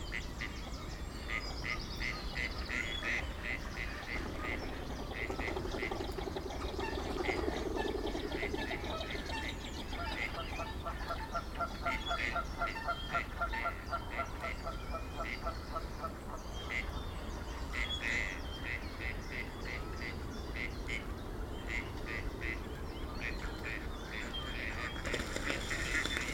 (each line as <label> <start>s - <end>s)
Common Blackbird 0.0s - 26.3s
Common Chaffinch 0.0s - 26.3s
Common Moorhen 0.0s - 26.3s
Mute swans 0.0s - 26.3s
Mallard ducks 0.1s - 26.3s
Kingfisher 1.3s - 14.6s
Canada geese 1.3s - 17.0s
plane 15.2s - 26.3s
Kingfisher 17.7s - 26.3s
Canada geese 21.7s - 26.3s